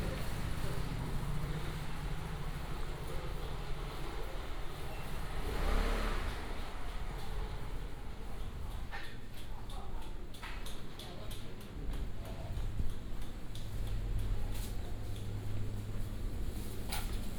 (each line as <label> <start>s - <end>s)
Traffic Sound 0.0s - 9.0s